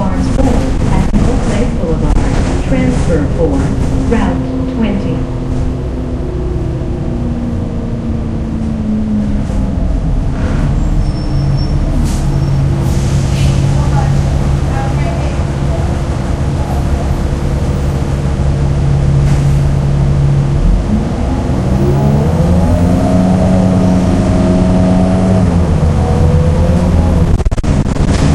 engine 0:00.1 - 0:28.3

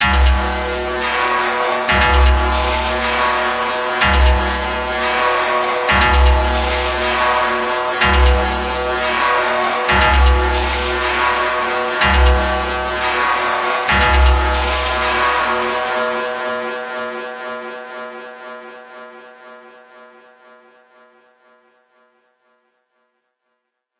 Metallic Chaos loop 0:00.0 - 0:16.2

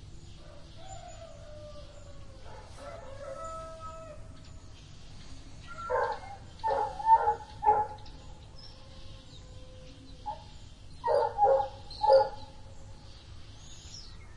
Golden Oriole 0:00.0 - 0:14.3
barking dog 0:05.8 - 0:08.0
barking dog 0:10.3 - 0:12.4

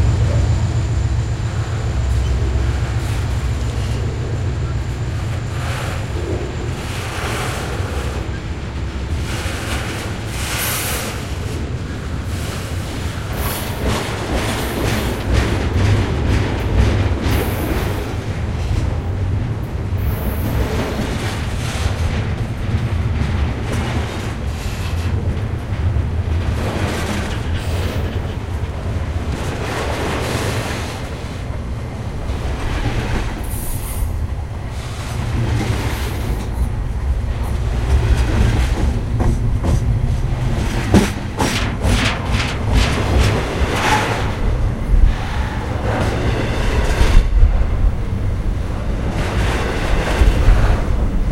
freight train idling then passing by 0:00.0 - 0:51.3

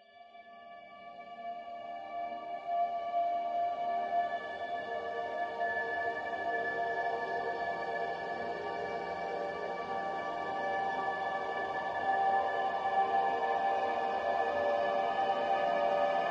slowly evolving dreamy ambient drone pad 0:01.3 - 0:16.3

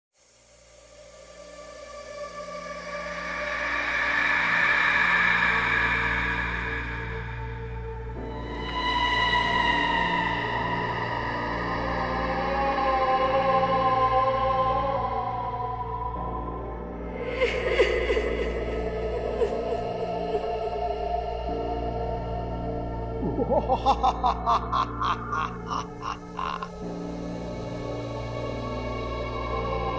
Scream 0:23.2 - 0:26.7
laugh 0:23.2 - 0:26.7

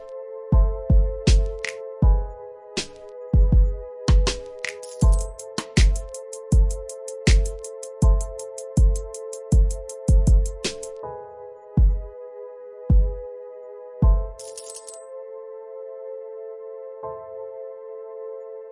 short little beat 0:03.4 - 0:04.4
short little beat 0:05.0 - 0:10.8

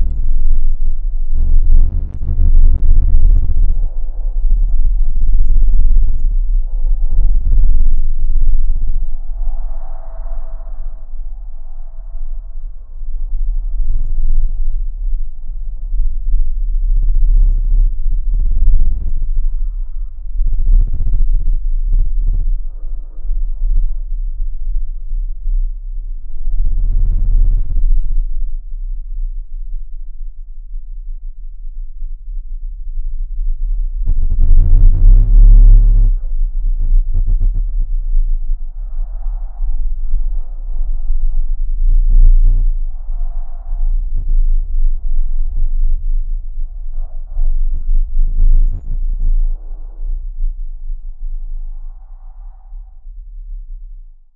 very low bass frequency 0:00.0 - 0:54.3

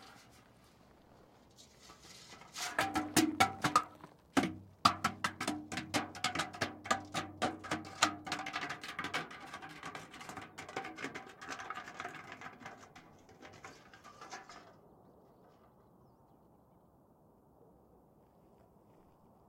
Metal barrel rolling 0:01.8 - 0:14.8

